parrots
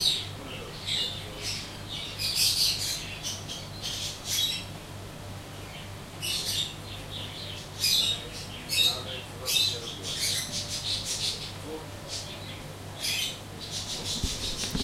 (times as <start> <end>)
7.4 14.8